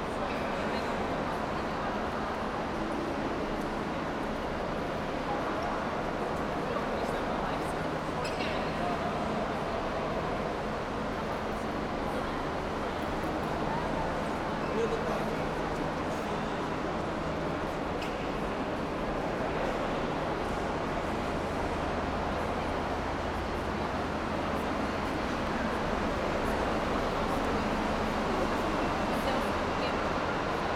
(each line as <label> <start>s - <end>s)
locals and tourists 0.0s - 30.7s
trains 0.0s - 30.7s